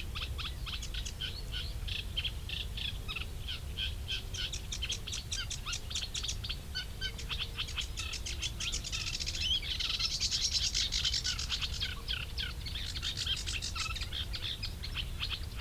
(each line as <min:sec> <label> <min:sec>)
0:04.2 sedge and reed warbler singing 0:15.6